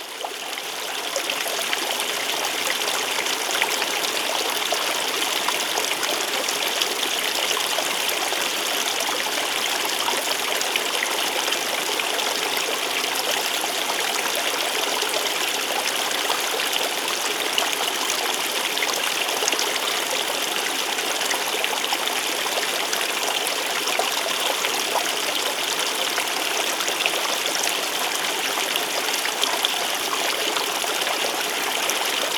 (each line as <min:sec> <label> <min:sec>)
0:00.0 Creek 0:32.3